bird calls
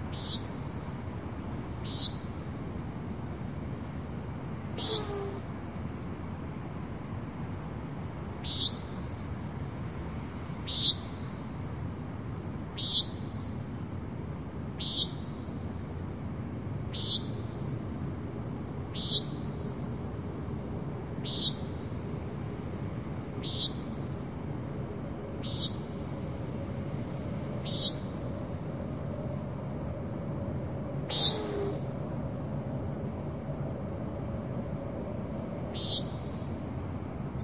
0:00.1 0:00.6, 0:01.8 0:02.4, 0:04.8 0:05.5, 0:08.4 0:09.0, 0:10.7 0:11.2, 0:12.8 0:13.3, 0:14.8 0:15.4, 0:16.9 0:17.5, 0:19.0 0:19.6, 0:21.2 0:21.8, 0:23.4 0:24.0, 0:25.4 0:26.0, 0:27.6 0:28.3, 0:31.1 0:31.9, 0:35.7 0:36.5

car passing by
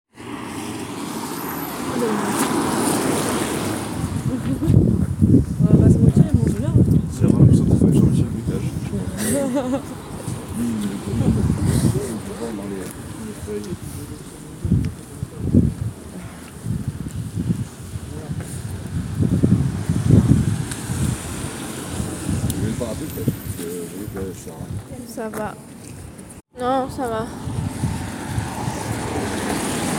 0:00.2 0:04.6, 0:08.5 0:14.6, 0:19.5 0:24.1, 0:27.2 0:29.9

